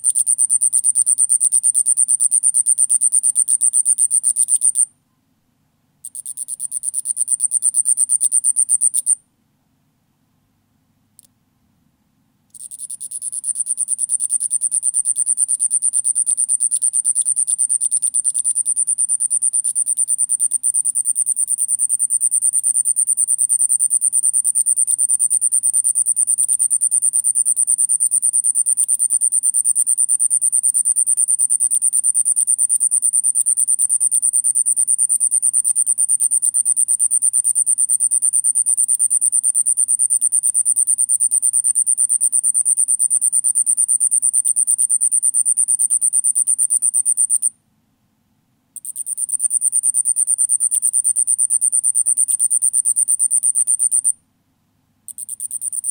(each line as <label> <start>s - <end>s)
Night Cricket 0.0s - 5.0s
Night Cricket 6.0s - 9.3s
Night Cricket 12.5s - 47.6s
Night Cricket 48.8s - 54.2s
Night Cricket 55.1s - 55.9s